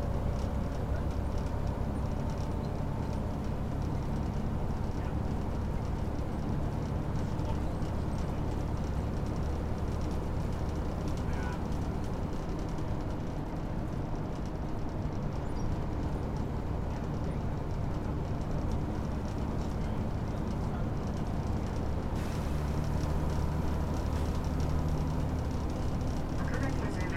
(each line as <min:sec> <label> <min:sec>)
0:00.0 Bus Ride 0:27.1